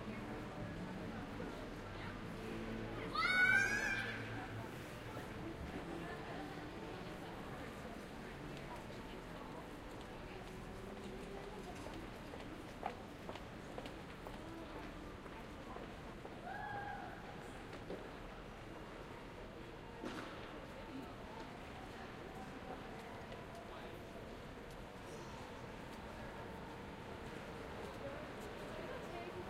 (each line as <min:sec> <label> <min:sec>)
0:00.0 people 0:29.4